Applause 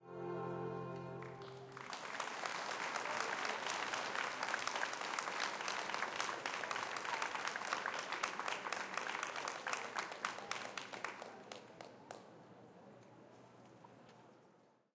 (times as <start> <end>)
1.0 12.6